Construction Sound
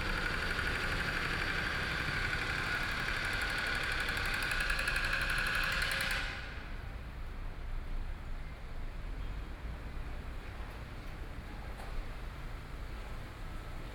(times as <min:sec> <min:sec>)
0:00.0 0:06.4